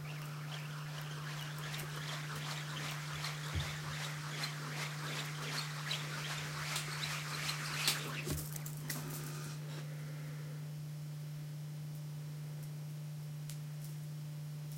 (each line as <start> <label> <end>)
0.0 slinkies are twirled around in the air 9.3
0.0 small plastic slinky being pulled and stretched 9.5